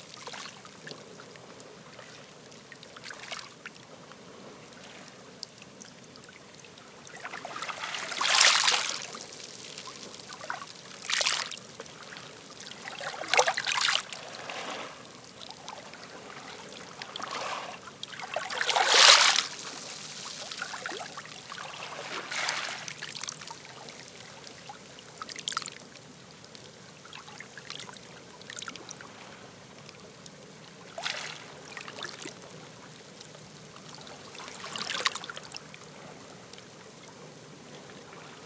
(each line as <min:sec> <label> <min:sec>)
0:07.3 waves hitting the seashore 0:11.6
0:12.8 waves hitting the seashore 0:15.3
0:16.1 waves hitting the seashore 0:23.0